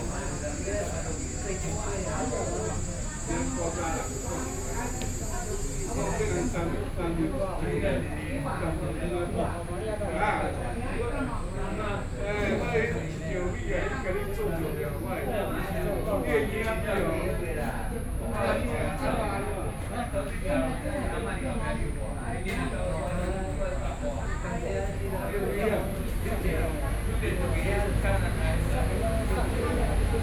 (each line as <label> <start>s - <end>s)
Traffic Sound 0.0s - 6.9s
Cicadas sound 0.0s - 7.6s
group of elderly people chatting 0.0s - 30.2s
Traffic Sound 25.9s - 30.2s